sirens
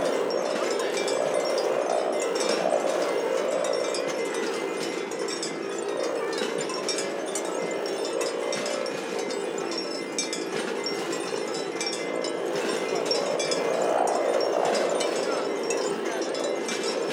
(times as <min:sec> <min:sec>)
0:00.0 0:05.1, 0:12.1 0:17.1